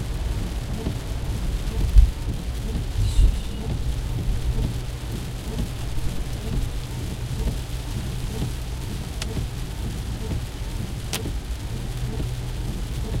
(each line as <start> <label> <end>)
0.0 Heavy rain 13.2
0.0 water running on the windshield 3.0
3.6 Rhytmical sound of windshield wipers 13.2
3.6 water running on the windshield 13.2